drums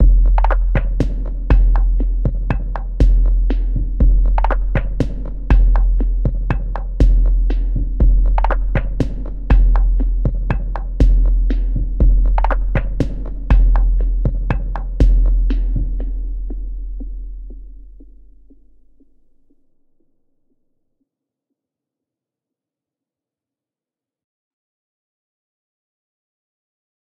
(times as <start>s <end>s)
0.0s 19.2s